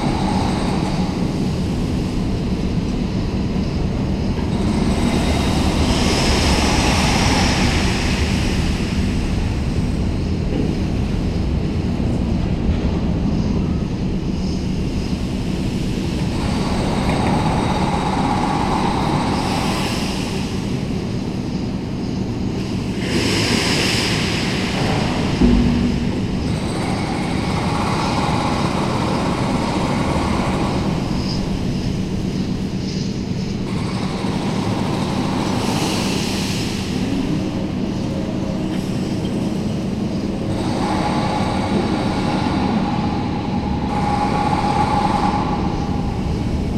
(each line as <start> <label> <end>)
0.0 worker moving an enormous overhead crane 46.7